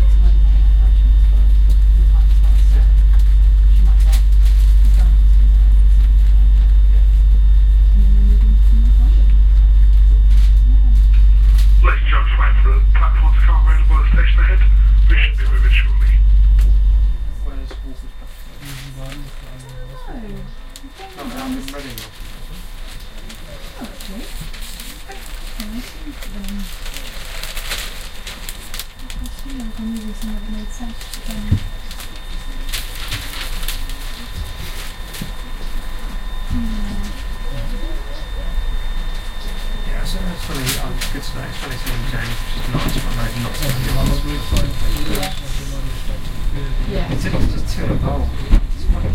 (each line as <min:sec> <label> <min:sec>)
0:00.0 Announcement the station is closed 0:20.1
0:39.7 Announcement the station is closed 0:49.1